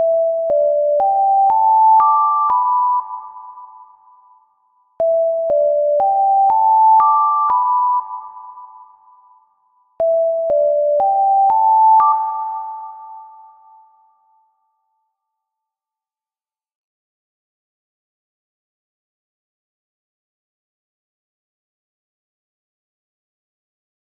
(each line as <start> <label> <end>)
0.0 alarm 14.9
0.0 background noise 15.8